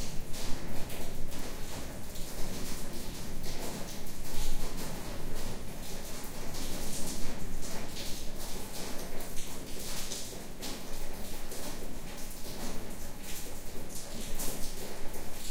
Rain falling in a backyard 0:00.0 - 0:15.5

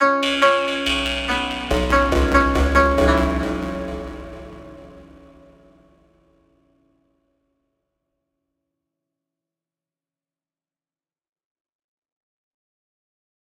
strings 0:00.0 - 0:05.9

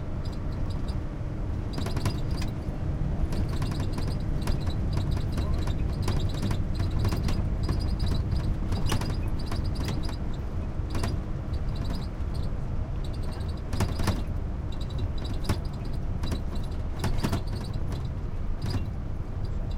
bus rattly TV frame metal plastic squeak 0:00.0 - 0:19.7

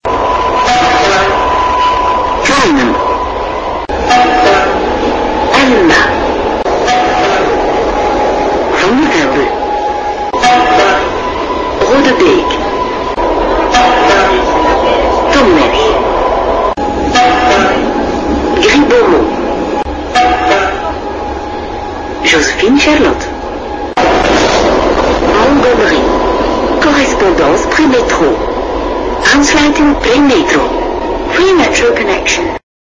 Subway 0:00.0 - 0:32.6

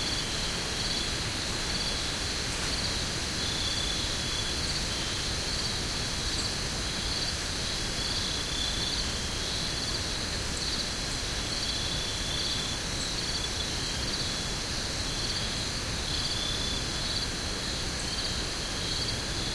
Crickets sang 0:00.0 - 0:19.5
wind through broadleaf trees 0:00.0 - 0:19.5

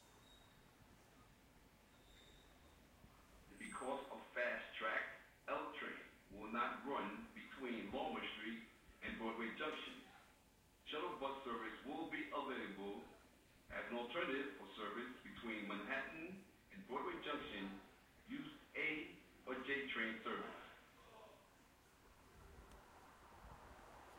Service announcement 0:03.5 - 0:10.0
Service announcement 0:10.8 - 0:20.9

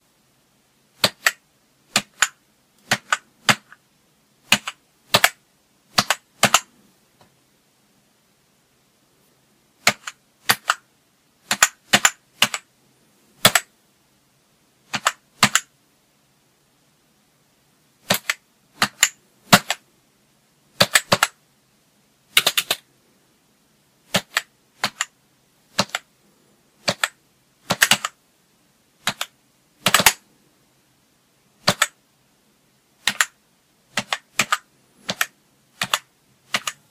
Hunting and pecking on an old computer keyboard 0:01.0 - 0:03.8
Hunting and pecking on an old computer keyboard 0:04.4 - 0:07.3
Hunting and pecking on an old computer keyboard 0:09.8 - 0:12.7
Hunting and pecking on an old computer keyboard 0:13.4 - 0:13.7
Hunting and pecking on an old computer keyboard 0:14.9 - 0:15.7
Hunting and pecking on an old computer keyboard 0:18.0 - 0:19.9
Hunting and pecking on an old computer keyboard 0:20.8 - 0:21.4
Hunting and pecking on an old computer keyboard 0:22.3 - 0:22.9
Hunting and pecking on an old computer keyboard 0:24.1 - 0:26.1
Hunting and pecking on an old computer keyboard 0:26.8 - 0:28.2
Hunting and pecking on an old computer keyboard 0:29.0 - 0:30.3
Hunting and pecking on an old computer keyboard 0:31.6 - 0:32.0
Hunting and pecking on an old computer keyboard 0:33.0 - 0:36.9

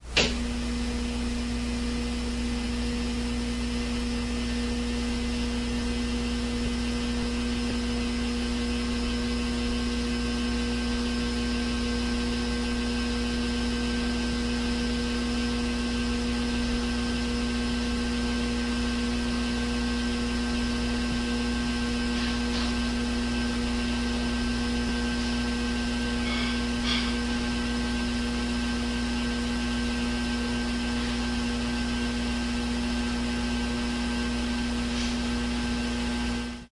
noisy poorly grounded ceiling fan starting up 0:00.0 - 0:36.6

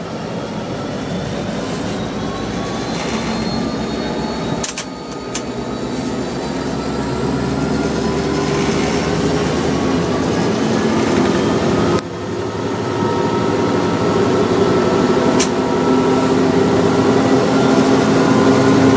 4000+hp v-16 emd locomotive 0:00.0 - 0:18.9

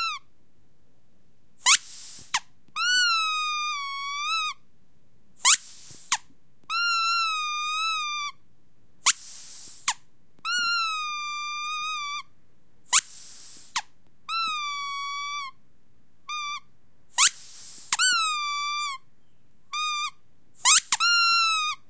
rubber squeaky toy being squeezed 0:00.0 - 0:00.3
rubber squeaky toy being squeezed 0:01.6 - 0:04.6
rubber squeaky toy being squeezed 0:05.4 - 0:08.4
rubber squeaky toy being squeezed 0:09.0 - 0:12.3
rubber squeaky toy being squeezed 0:12.9 - 0:15.6
rubber squeaky toy being squeezed 0:16.3 - 0:19.1
rubber squeaky toy being squeezed 0:19.7 - 0:21.8

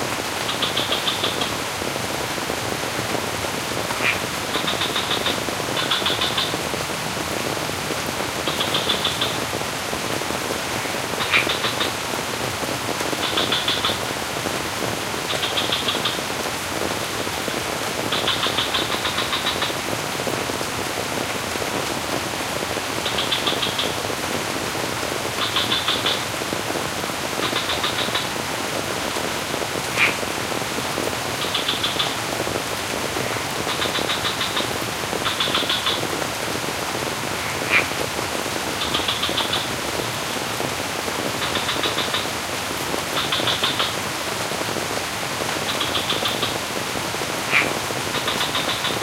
rain falls over the sculpted rice terraces 0:00.0 - 0:49.0
frog 0:00.4 - 0:01.5
frog 0:03.9 - 0:06.6
frog 0:08.4 - 0:09.4
frog 0:10.7 - 0:12.0
frog 0:13.1 - 0:14.0
frog 0:15.3 - 0:16.3
frog 0:18.0 - 0:19.8
frog 0:23.0 - 0:24.0
frog 0:25.3 - 0:26.3
frog 0:27.4 - 0:28.4
frog 0:29.9 - 0:30.2
frog 0:31.4 - 0:32.2
frog 0:33.2 - 0:36.2
frog 0:37.3 - 0:38.0
frog 0:38.8 - 0:40.1
frog 0:41.4 - 0:42.4
frog 0:43.0 - 0:44.0
frog 0:45.6 - 0:46.7
frog 0:47.4 - 0:49.0

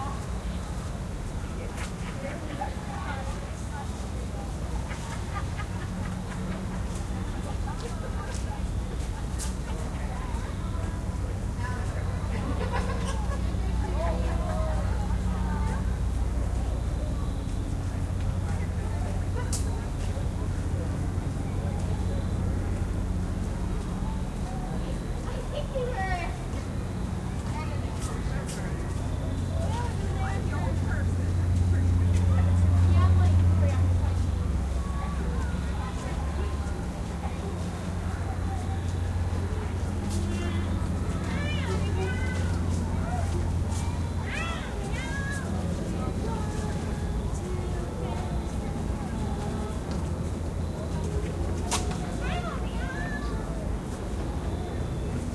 cars 0:00.0 - 0:55.3
groups of children 0:00.0 - 0:55.3
voices 0:00.0 - 0:55.3

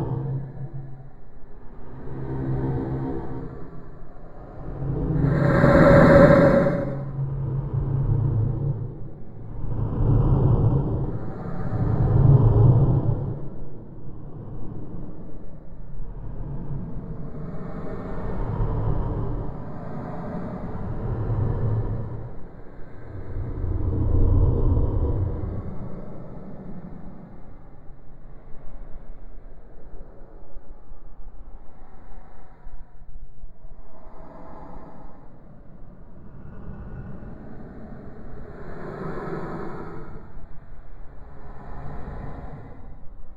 Drone 0:00.0 - 0:43.3

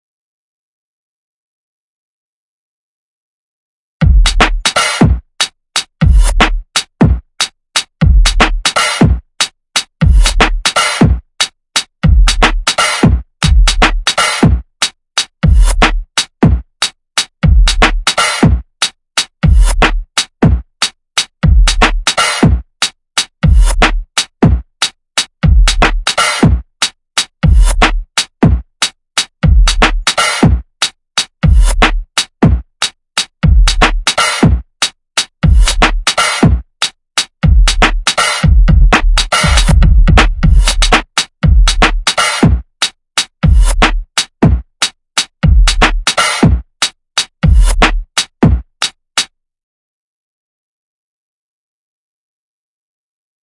drums 0:04.0 - 0:49.3

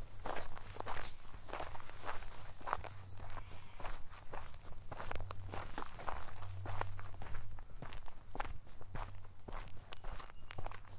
Walking through a bush / forest 0:00.0 - 0:10.9
wind 0:00.0 - 0:10.9
birds 0:01.0 - 0:10.9

